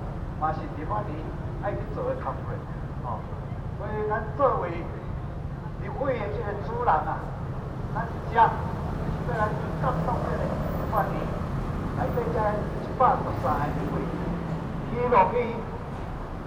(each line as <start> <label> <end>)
0.4 Speech 11.4
12.0 Speech 14.2
14.9 Speech 15.8